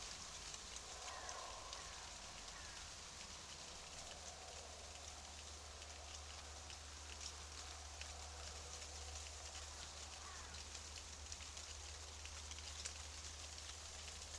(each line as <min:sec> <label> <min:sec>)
0:00.0 shivering aspen tree 0:14.3